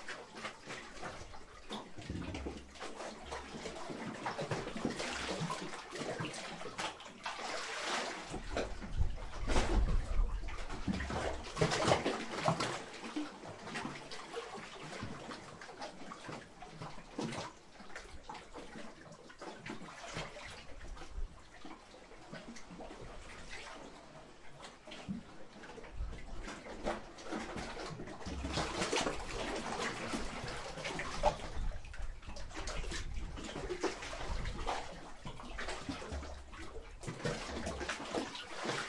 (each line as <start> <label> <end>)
0.0 Waves in small rocky cavern 38.8